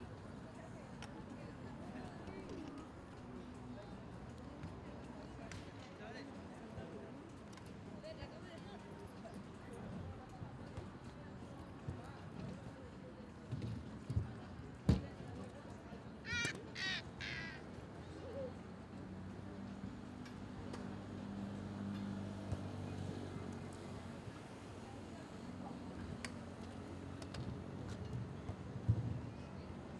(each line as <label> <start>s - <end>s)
Children playing and skating 16.3s - 17.6s